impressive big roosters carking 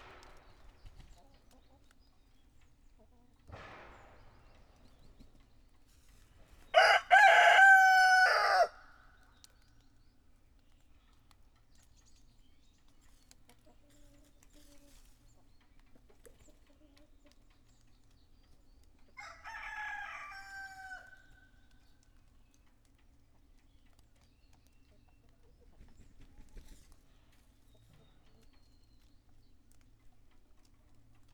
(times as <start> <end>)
6.7 9.2, 19.1 21.5